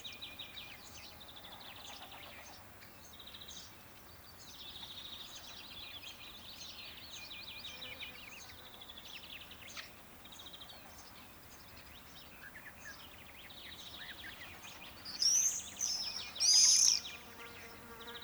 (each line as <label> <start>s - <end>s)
insect in the meadow 13.5s - 18.2s
crows on a tree 14.4s - 17.9s